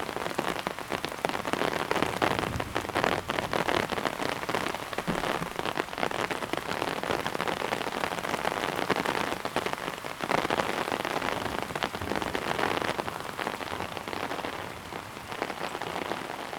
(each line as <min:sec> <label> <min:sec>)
0:00.0 storm under umbrella 0:16.5